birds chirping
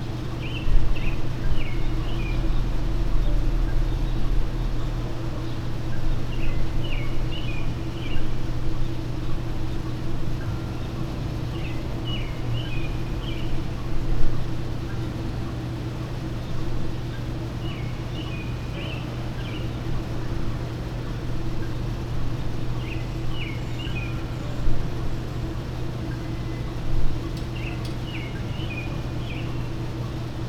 16.3 30.4

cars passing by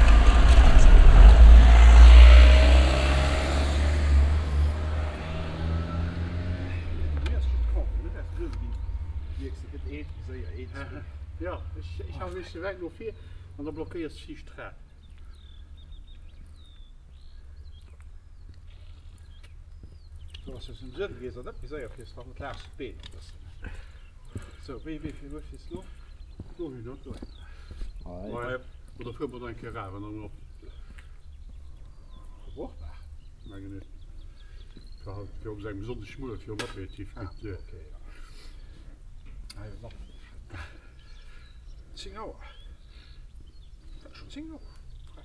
0.0 31.7

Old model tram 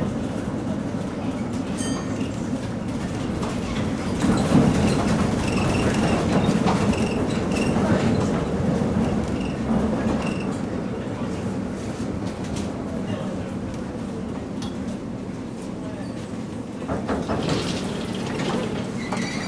16.8 19.4

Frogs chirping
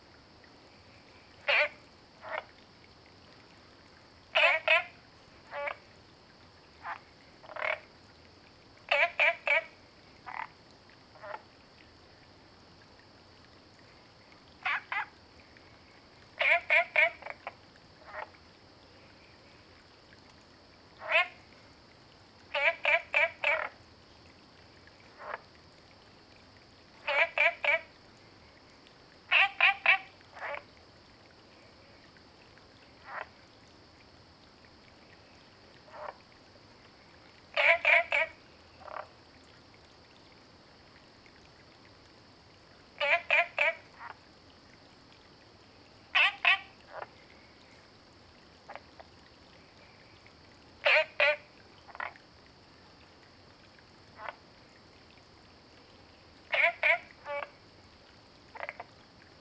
0.0 2.6, 4.0 5.9, 6.6 8.2, 8.8 11.5, 13.8 19.8, 21.0 21.9, 22.5 23.9, 24.7 26.0, 26.6 30.8, 32.8 33.6, 35.0 39.3, 43.0 44.2, 45.7 48.0, 48.7 52.3, 54.2 54.5, 55.8 57.7, 58.5 59.0

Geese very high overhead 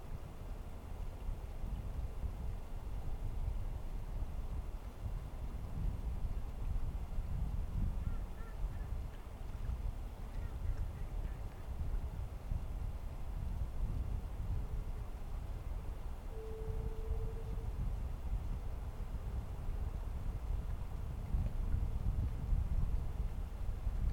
8.0 9.0

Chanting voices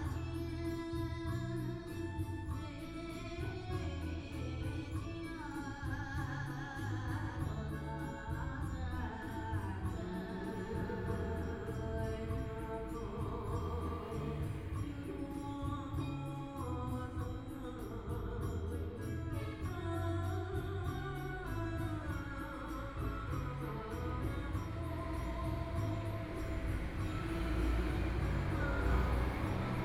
9.2 15.3, 22.4 29.8

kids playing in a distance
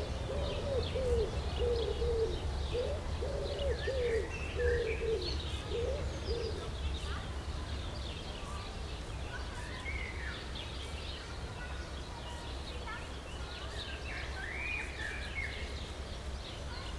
6.6 15.0, 16.5 16.9

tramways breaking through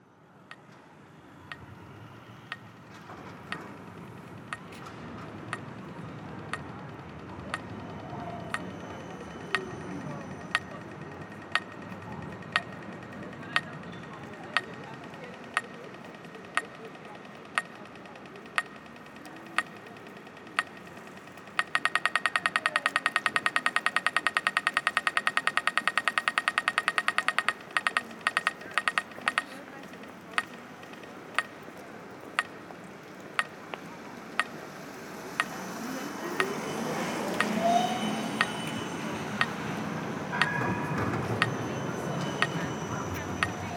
33.4 43.7

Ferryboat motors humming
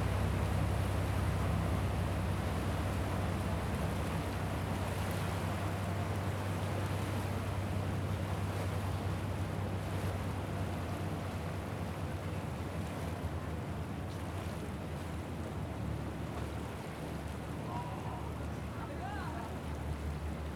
15.1 20.5

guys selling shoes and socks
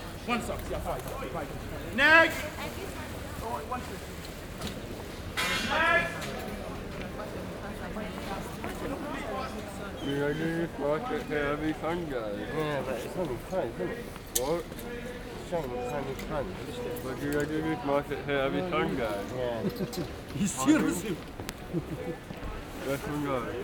18.5 23.6

